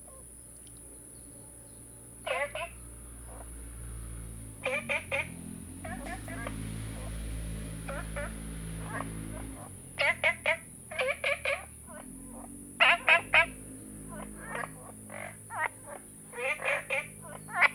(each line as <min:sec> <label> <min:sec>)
0:00.0 Frogs chirping 0:17.7